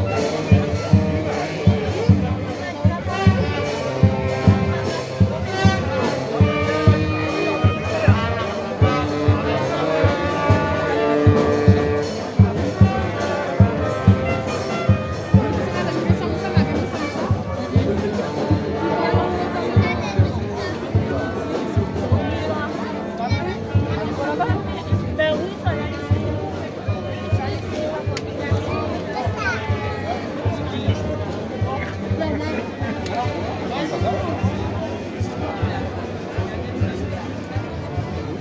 0.0s ORCHESTRE 21.8s

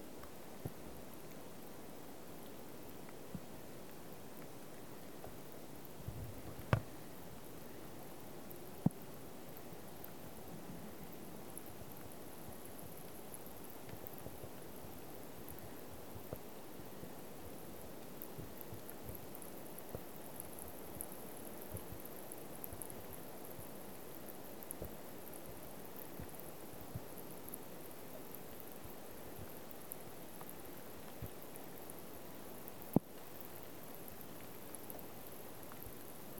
0.0s Soft rain drops over lake 36.3s

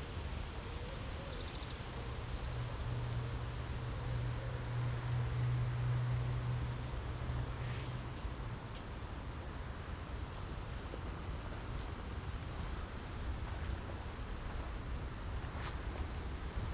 9.4s walk in wasteland 16.7s

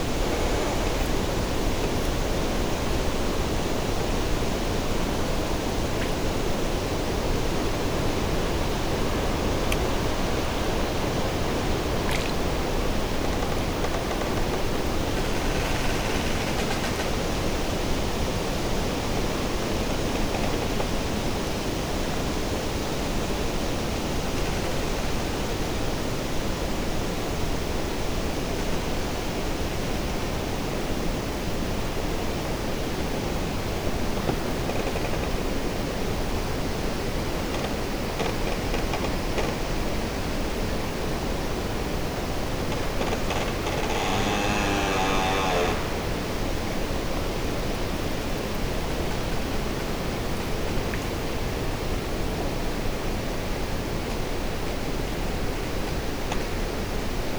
0.0s Trees making sounds 3.4s
8.0s Trees making sounds 17.7s
41.7s Trees making sounds 47.6s

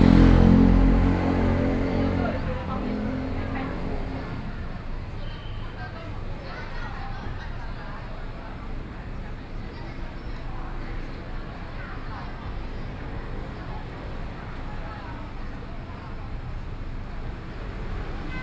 0.0s Traffic Sound 7.0s
10.9s Traffic Sound 18.4s

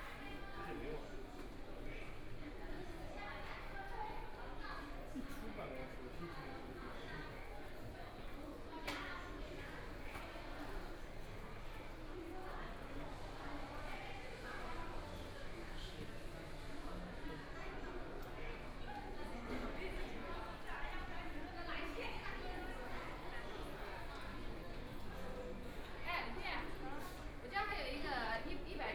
0.0s Walking through the station 28.9s

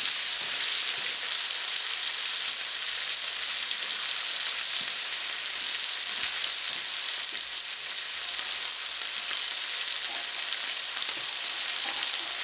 0.0s Frying potatoes in a wood burning stove 12.4s

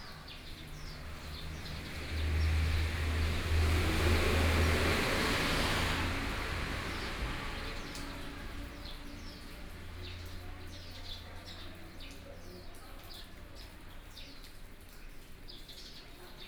0.0s Traffic Sound 11.6s
0.0s Rainy weather 16.4s

